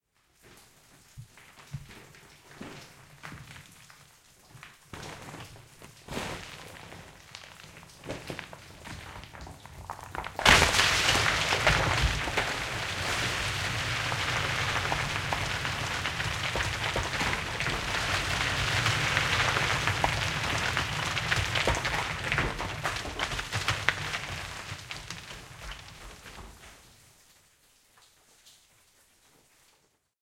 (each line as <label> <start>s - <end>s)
Rockfall 1.3s - 26.9s